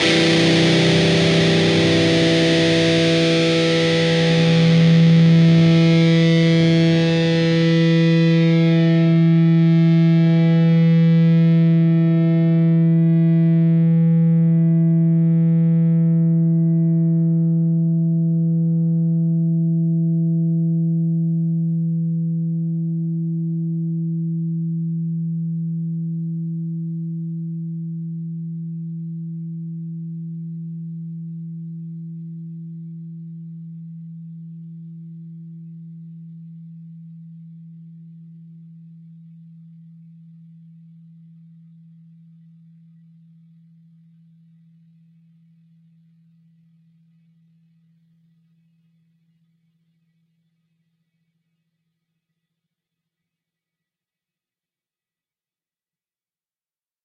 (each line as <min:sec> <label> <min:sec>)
0:00.0 distorted guitar 0:27.8